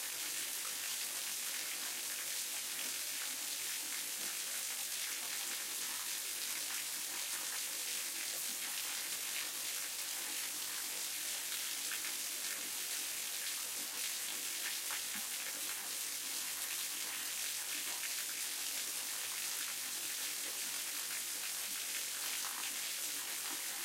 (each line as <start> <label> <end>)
0.0 flow of water in a waterfall 23.8